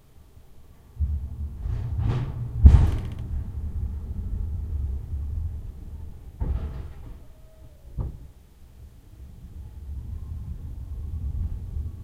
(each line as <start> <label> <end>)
1.0 forklift (rumbling, creaking) 7.3
9.2 forklift (rumbling, creaking) 12.0